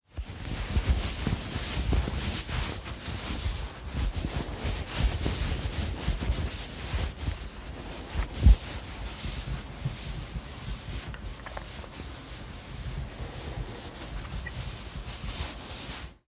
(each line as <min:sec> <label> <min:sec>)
0:00.2 Coat Rustle 0:16.2